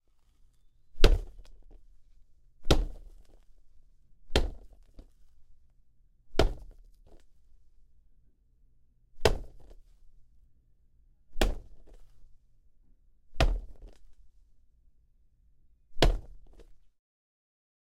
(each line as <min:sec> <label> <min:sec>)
0:01.0 Hit Soccer Ball Mannequin 0:01.4
0:02.6 Hit Soccer Ball Mannequin 0:03.2
0:04.3 Hit Soccer Ball Mannequin 0:04.8
0:06.4 Hit Soccer Ball Mannequin 0:06.8
0:09.2 Hit Soccer Ball Mannequin 0:09.8
0:11.4 Hit Soccer Ball Mannequin 0:12.0
0:13.4 Hit Soccer Ball Mannequin 0:13.9
0:16.0 Hit Soccer Ball Mannequin 0:16.7